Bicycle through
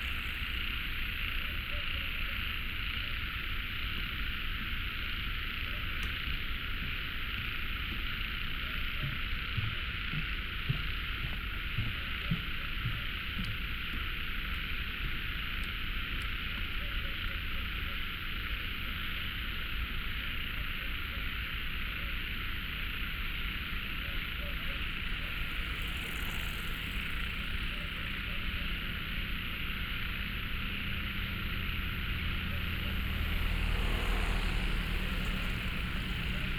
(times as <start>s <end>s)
0.0s 1.4s, 23.4s 36.5s